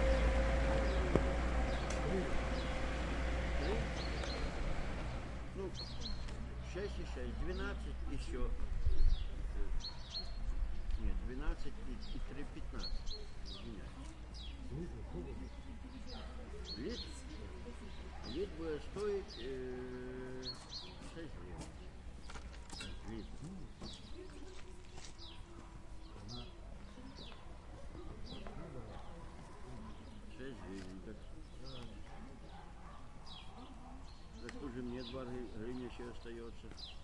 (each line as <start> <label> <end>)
0.0 cars 8.8
0.0 birds 37.0